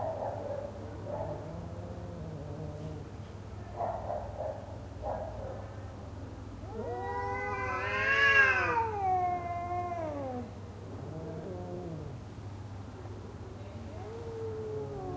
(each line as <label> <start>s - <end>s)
Two cats arguing, then fighting 6.7s - 10.5s